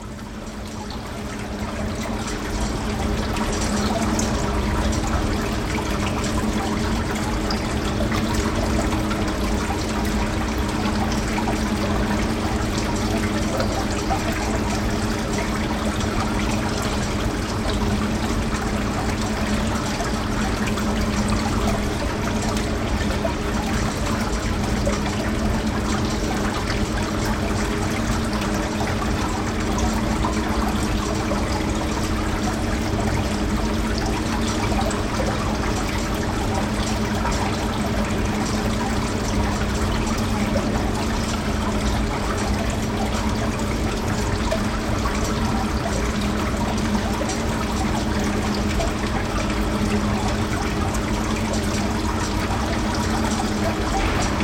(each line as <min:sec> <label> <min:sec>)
0:00.0 fountain 0:54.4